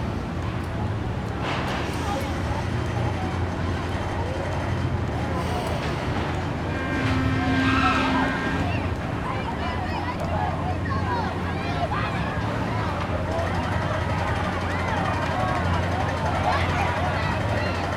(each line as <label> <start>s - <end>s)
state fair circle ride 0.0s - 17.9s